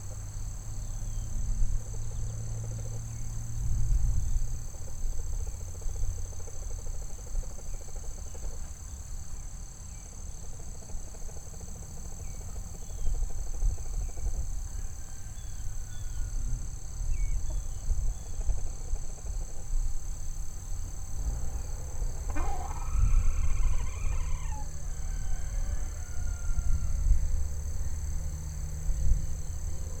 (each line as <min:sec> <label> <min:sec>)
0:00.0 light wind 0:30.0
0:00.0 trucks out in the distance 0:30.0
0:14.7 rooster 0:16.4
0:20.4 bugs 0:26.5
0:22.2 Chickens 0:26.8
0:22.3 rooster 0:27.2